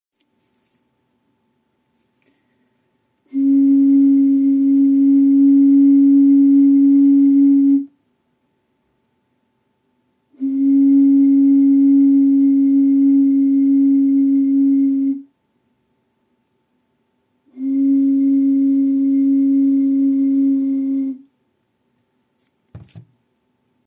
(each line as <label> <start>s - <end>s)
blowing on a bottle with some liquid in it 3.3s - 7.8s
blowing on a bottle with some liquid in it 10.4s - 15.2s
blowing on a bottle with some liquid in it 17.5s - 21.2s